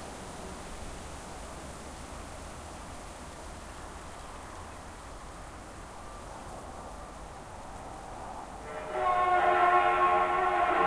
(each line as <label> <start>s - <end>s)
distant traffic 0.0s - 10.8s
wind 0.0s - 10.8s